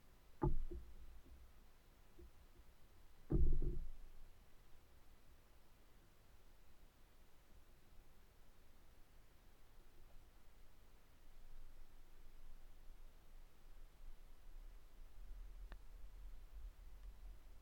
0.0s tree that plays 4.9s

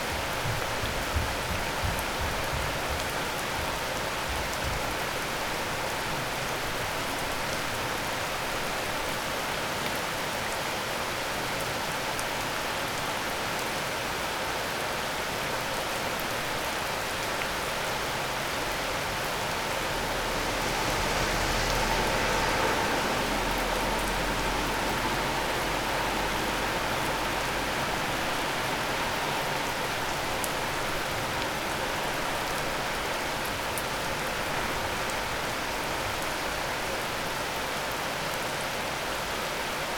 0.0s rain 39.9s

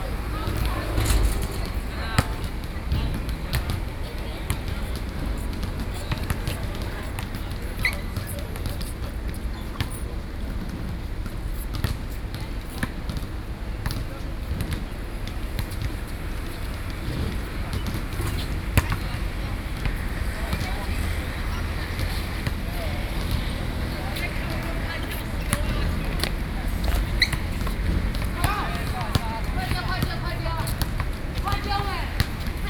0.0s Traffic Sound 32.6s

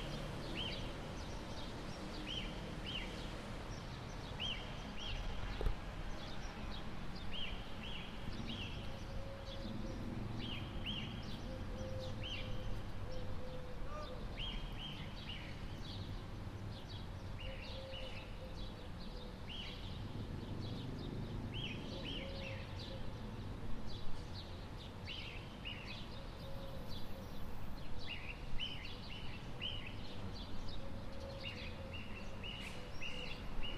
6.2s Bird singing 20.0s
20.6s Bird singing 23.2s
24.4s Bird singing 33.7s

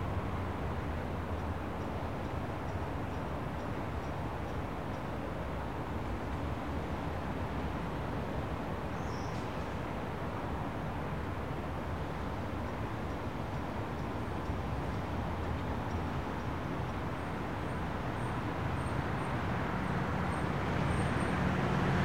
0.0s Cars, trucks and busses 22.0s
0.0s Pedestrians 22.0s

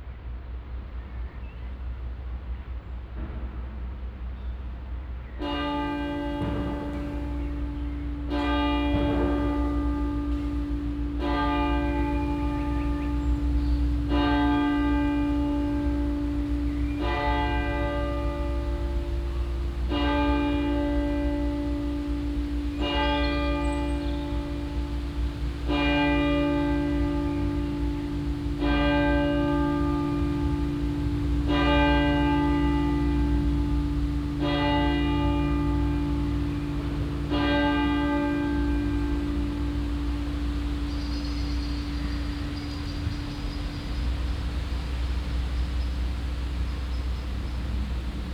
5.4s bells 48.3s

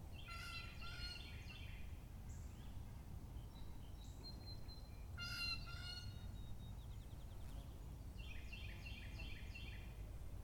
0.1s bird song 10.4s

